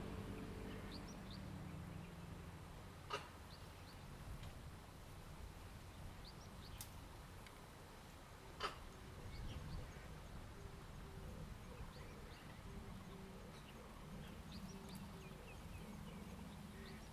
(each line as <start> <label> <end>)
0.0 traffic sound 4.1